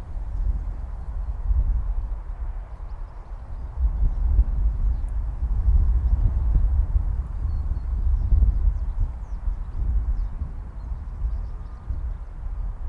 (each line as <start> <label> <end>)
0.0 wind 12.8
7.2 birds 12.4